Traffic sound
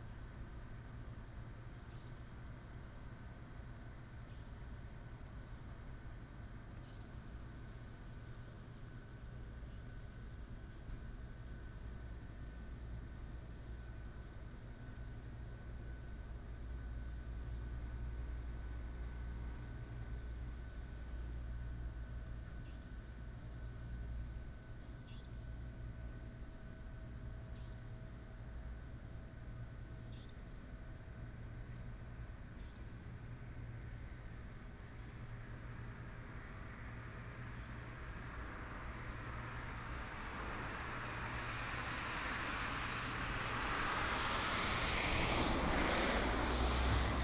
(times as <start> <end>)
36.4 47.2